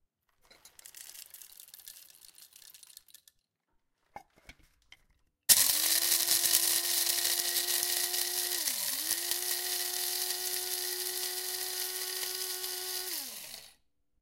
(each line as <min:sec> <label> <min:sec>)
0:00.4 Filling a coffe grinder with coffee beans 0:03.4
0:00.4 Coffee grinder 0:03.4
0:05.5 Coffee grinder 0:13.8
0:05.5 Filling a coffe grinder with coffee beans 0:13.8